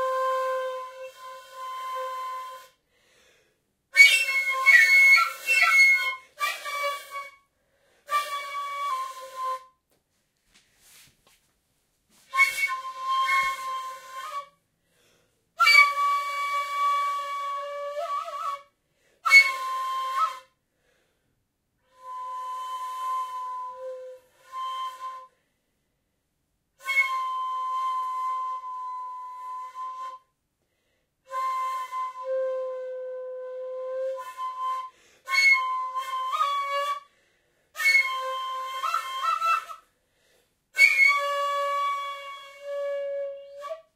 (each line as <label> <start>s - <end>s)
Asian Flute 0.0s - 2.9s
Asian Flute 3.9s - 9.8s
Asian Flute 12.2s - 14.6s
Asian Flute 15.6s - 20.6s
Asian Flute 21.8s - 25.5s
Asian Flute 26.8s - 30.4s
Asian Flute 31.2s - 40.1s
Asian Flute 40.7s - 43.9s